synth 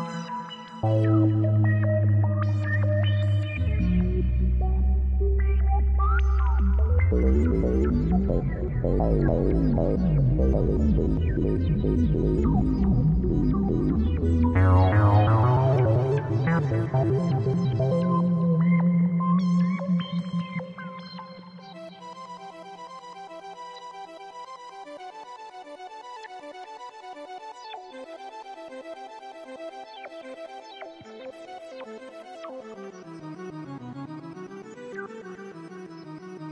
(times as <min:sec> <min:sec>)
0:00.0 0:22.1